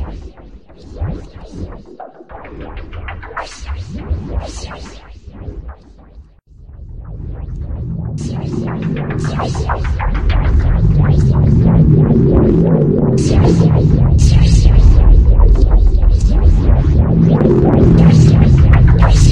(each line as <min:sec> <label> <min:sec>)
0:09.1 vocoder 0:19.3